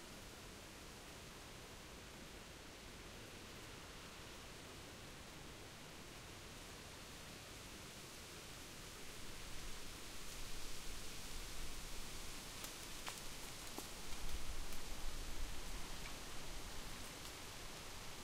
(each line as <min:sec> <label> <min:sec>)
0:00.0 wind blowing through the treetops 0:18.2
0:07.4 random insects on the ground 0:18.2